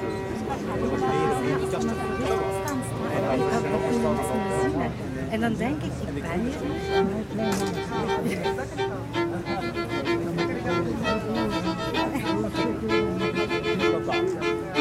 homeless man plays a piece of music on a violin 0.0 - 14.8

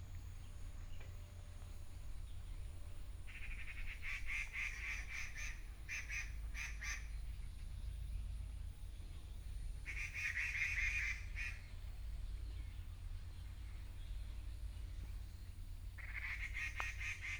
Birds call 0.0 - 17.3
plane 0.0 - 17.3

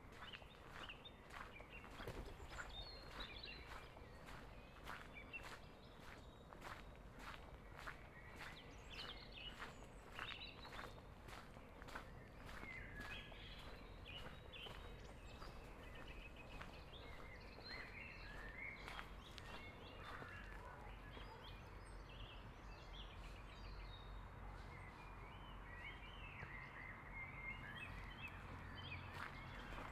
lots of birds 0.0 - 29.9
other pedestrians 0.0 - 29.9
traffic noise on the street 6.8 - 29.9

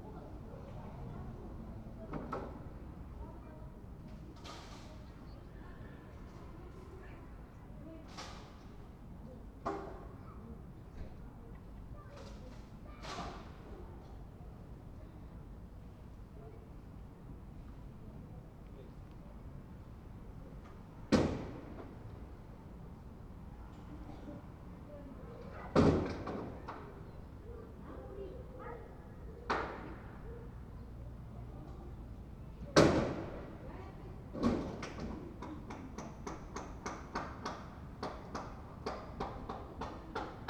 voices from the flats 0.0 - 15.6
busy workers 20.0 - 40.4
voices from the flats 21.7 - 36.8

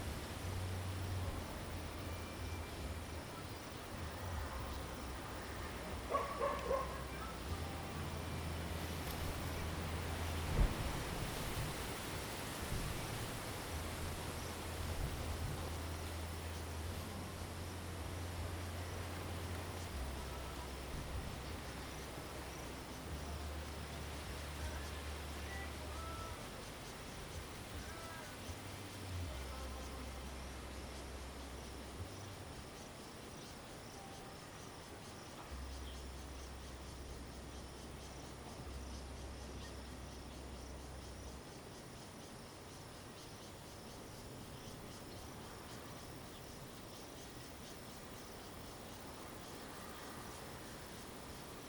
wind 0.0 - 51.6
Bird song 1.6 - 10.7
Dog barking 6.1 - 7.4
Bird song 31.5 - 49.6

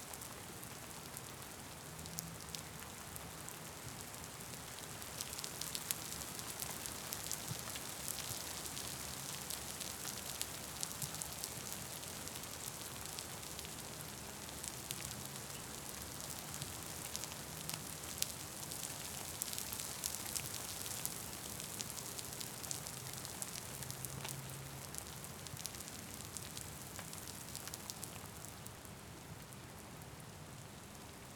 wind 0.0 - 31.3
hard rain falls 0.1 - 31.3

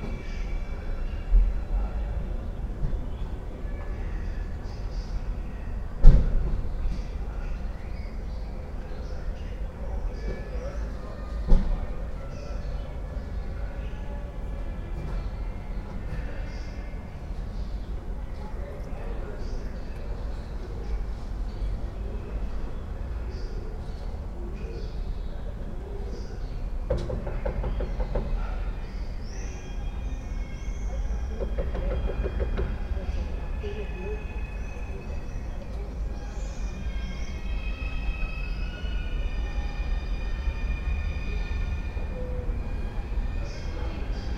blackbirds 19.4 - 39.4

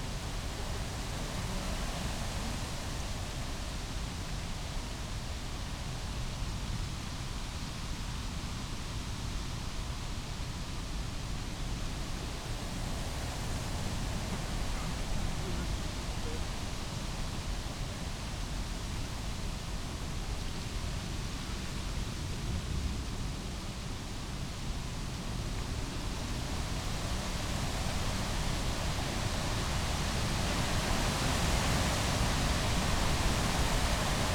wind in birch trees 10.2 - 34.3

